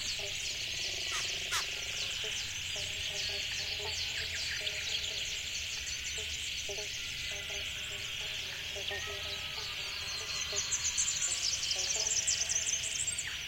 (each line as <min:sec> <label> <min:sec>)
0:00.0 kookaburra 0:05.3
0:00.0 dawn chorus 0:13.4
0:00.0 frog sounds 0:13.4
0:00.0 insects 0:13.4
0:01.0 crow 0:02.1